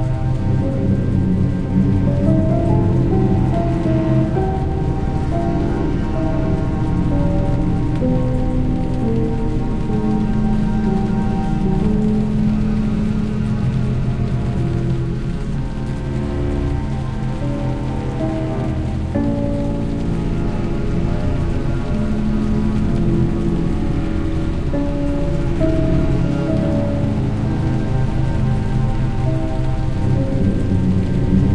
0.0s cello 31.5s
0.0s piano 31.5s
0.0s rain 31.5s

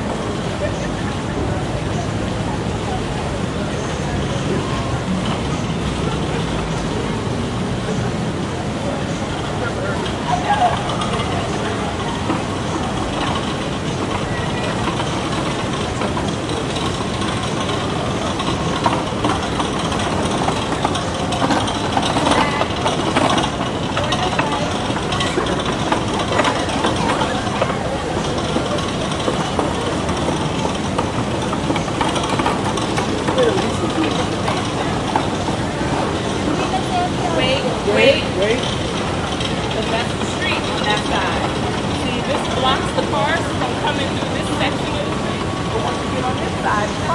0.0s people 47.1s

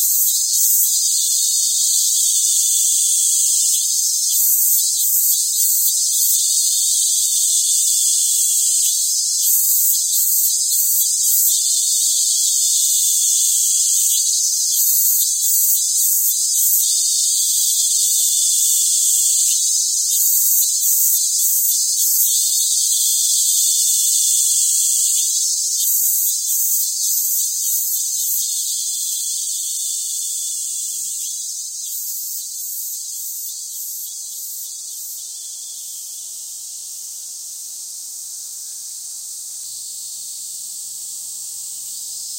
0.0s cicadas 42.3s

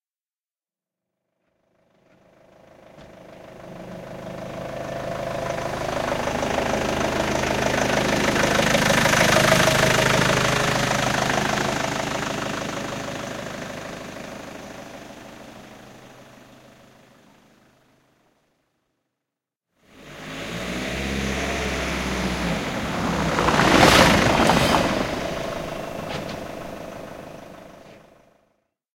20.0s vehicle scramble through a line between two microphone 28.1s

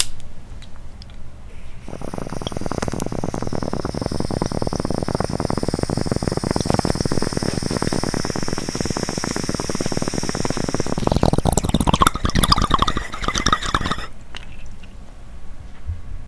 1.8s Bong 14.1s

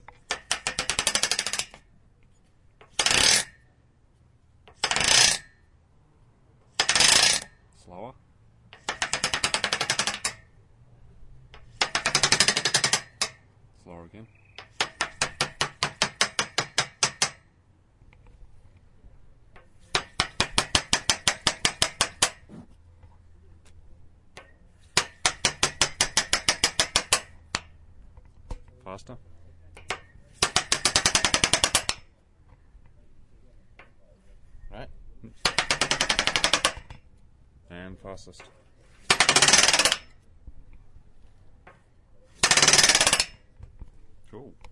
0.0s steelframe wood tapping 3.0s
0.0s wood being scraped along a metal frame 3.7s
4.7s wood being scraped along a metal frame 5.6s
6.7s wood being scraped along a metal frame 7.6s
8.8s wood being scraped along a metal frame 10.5s
11.6s wood being scraped along a metal frame 13.4s
14.5s steelframe wood tapping 17.5s
19.5s steelframe wood tapping 28.8s
19.7s wood being scraped along a metal frame 22.8s
38.8s wood being scraped along a metal frame 40.2s

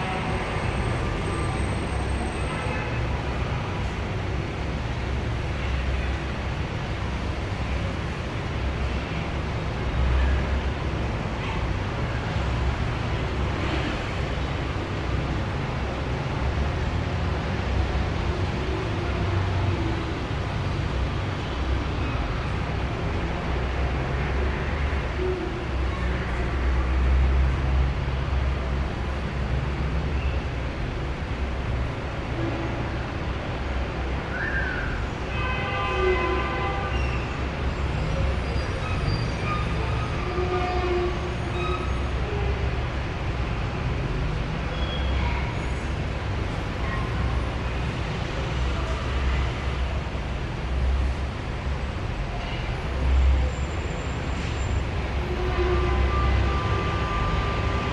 0.0s several cars 57.9s
35.3s horns 37.2s

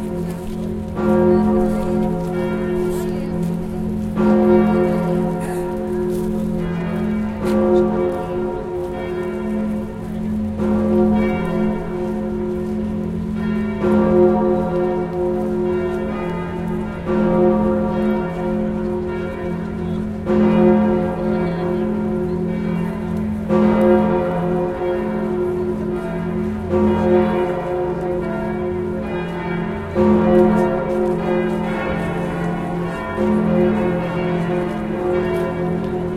0.0s bourdon bell 36.1s

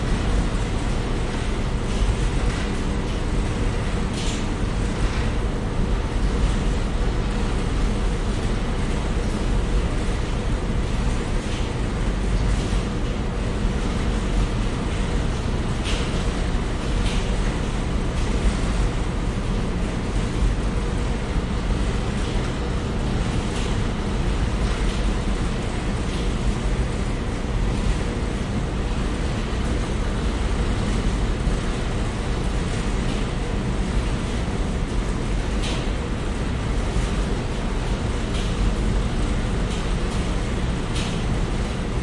0.0s washing machines rattle 42.0s

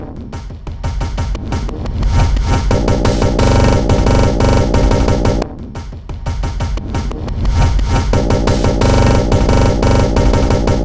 2.4s Drum Loop 7.1s
7.8s Drum Loop 10.8s

